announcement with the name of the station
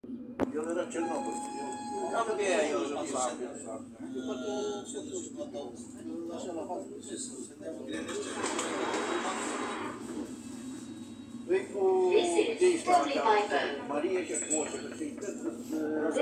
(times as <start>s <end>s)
0.6s 3.9s